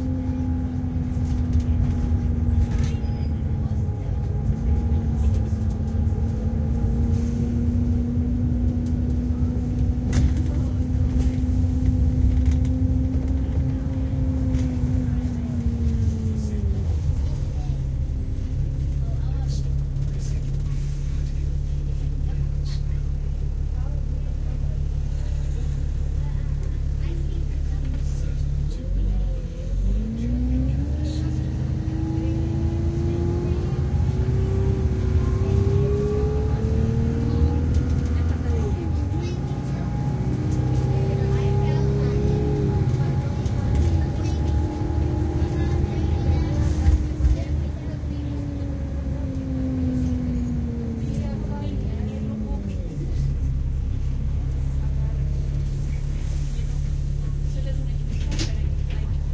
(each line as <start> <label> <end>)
0.0 engine noise 59.3
0.0 passengers 59.3
30.0 automated announcements 53.6